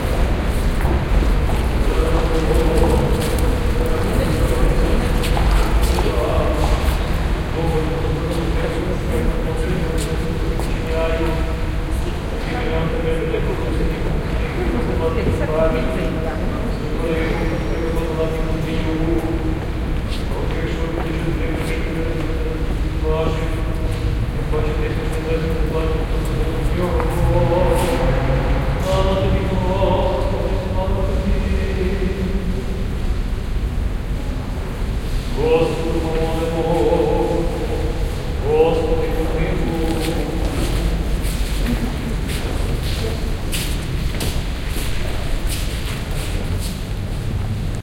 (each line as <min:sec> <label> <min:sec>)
0:00.0 priest blessing people 0:46.9
0:35.4 hushed voices 0:44.0